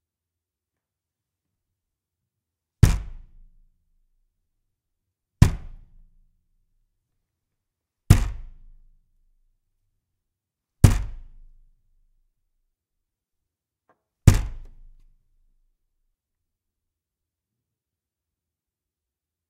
punch at the wooden door 2.8 - 3.5
punch at the wooden door 5.4 - 6.1
punch at the wooden door 8.1 - 8.7
punch at the wooden door 10.8 - 11.5
punch at the wooden door 14.2 - 15.0

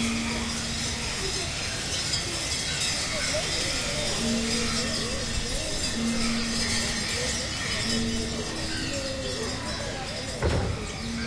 bells 0.0 - 11.2
voices in Bkg 0.0 - 11.2
crows 2.8 - 10.0

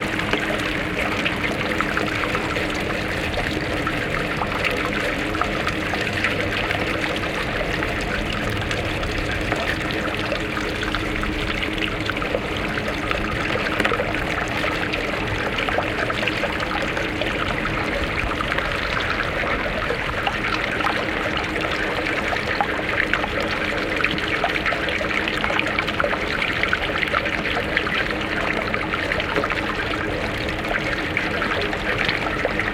Water flowing through the drainpipe 0.0 - 32.7

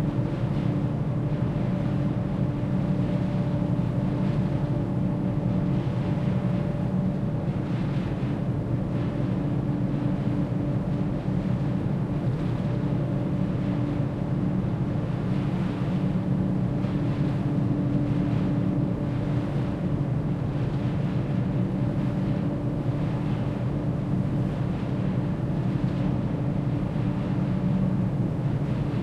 Ventilation engine of a ferry boat 0.0 - 29.0

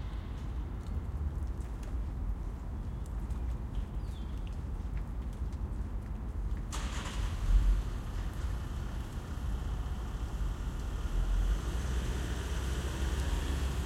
Light rain 0.0 - 13.8
raindrops from trees 0.2 - 13.8
Distant traffic noise 6.7 - 13.8
cars passing by 6.8 - 13.8

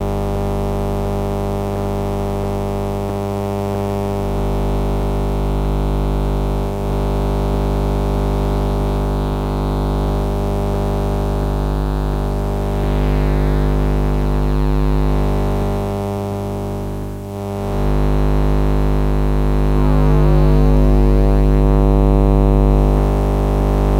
buzz 0.0 - 23.9

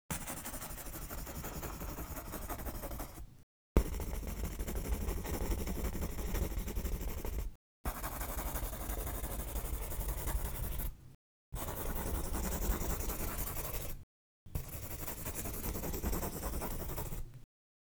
Pencil scribble fast long 0.2 - 3.2
Pencil scribble fast long 3.8 - 10.9
Pencil scribble fast long 11.6 - 13.9
Pencil scribble fast long 14.6 - 17.2

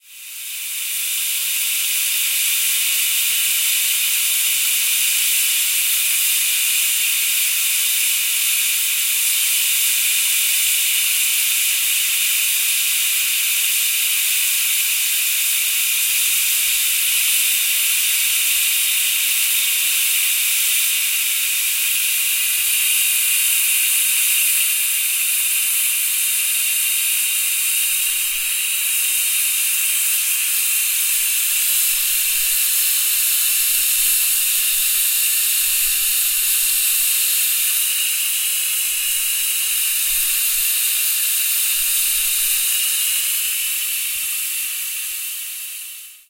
pressure cooker 0.0 - 46.2

